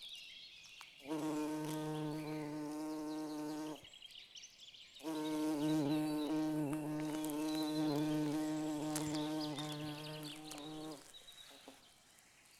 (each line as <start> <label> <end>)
5.0 flight of the bumblebee 11.8